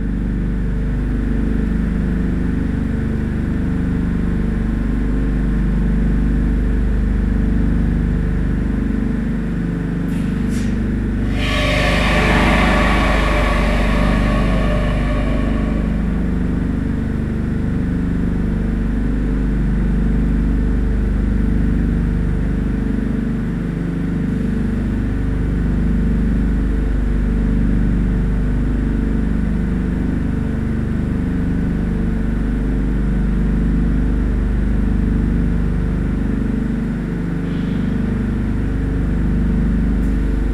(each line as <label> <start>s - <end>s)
pump of a small sewage treatment plant 4.2s - 17.0s